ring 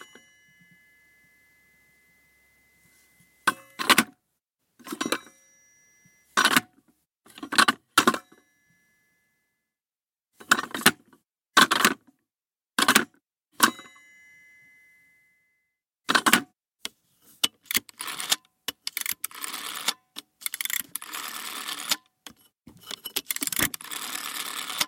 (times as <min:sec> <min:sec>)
0:00.0 0:04.2, 0:13.6 0:15.8